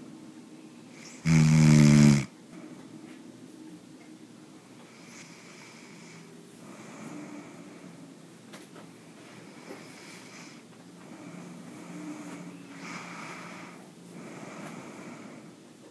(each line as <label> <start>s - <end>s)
someone snoring 1.0s - 2.3s
someone snoring 9.5s - 15.5s